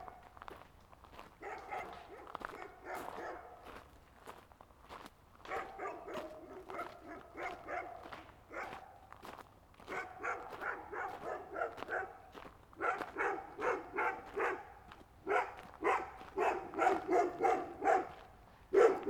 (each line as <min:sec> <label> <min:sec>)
0:00.0 walking a small path 0:19.0
0:01.3 atrocious dogs barking 0:03.8
0:05.4 atrocious dogs barking 0:09.2
0:09.8 atrocious dogs barking 0:19.0